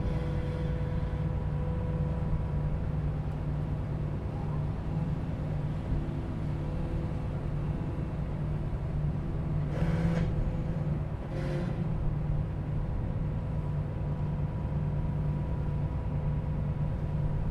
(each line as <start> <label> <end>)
0.0 Ferry 17.5